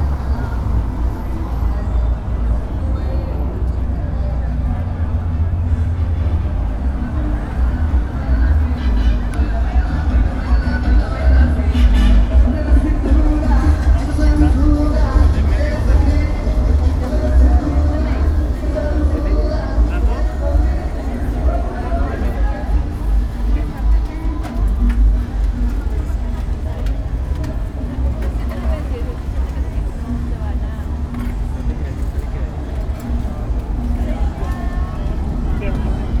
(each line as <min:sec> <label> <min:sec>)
0:00.0 Walking outside the expiatory temple 0:36.2
0:00.0 cars passing through the street 0:36.2
0:00.0 people passing by outside 0:36.2
0:00.0 people selling things 0:36.2
0:00.0 tires on the characteristic floor 0:36.2